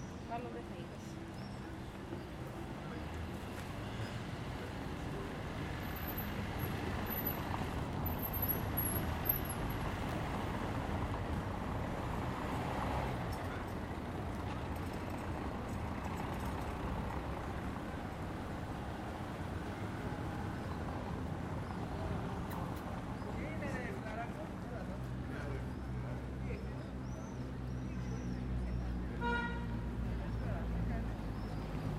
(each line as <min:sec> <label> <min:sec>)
0:00.0 Mild traffic 0:31.9
0:00.0 people passing by, talking 0:31.9
0:29.2 car honks 0:29.9